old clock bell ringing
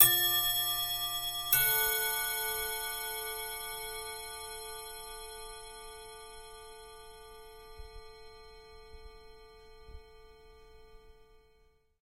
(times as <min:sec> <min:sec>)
0:00.0 0:07.4